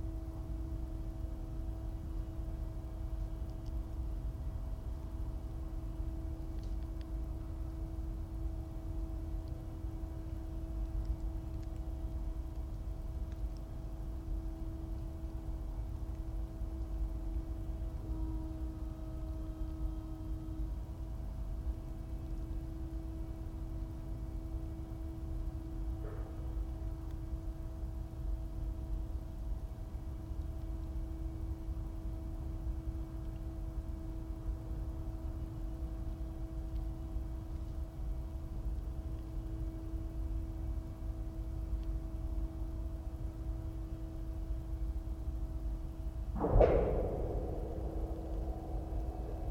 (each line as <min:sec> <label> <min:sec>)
0:46.4 twangs 0:49.5